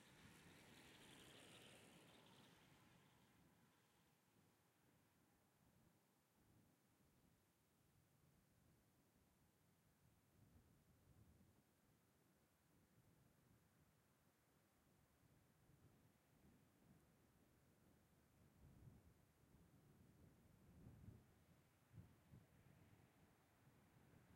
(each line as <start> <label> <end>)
0.0 Passing cyclist freewheeling downhill 4.1
0.0 Sparse single vehicles (mainly cars and trucks) passing 5.6
0.0 Light intermittent wind 24.3
0.0 trucks can be heard labouring slightly 3.2